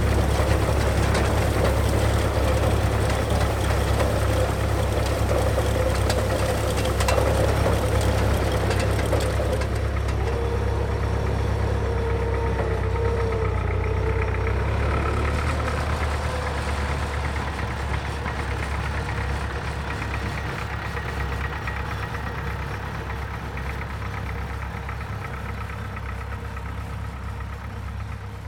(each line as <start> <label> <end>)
0.0 Tractor pulling aside mowed hay 28.4